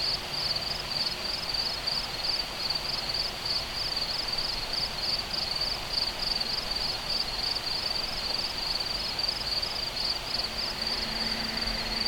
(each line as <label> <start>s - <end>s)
Crickets 0.0s - 12.0s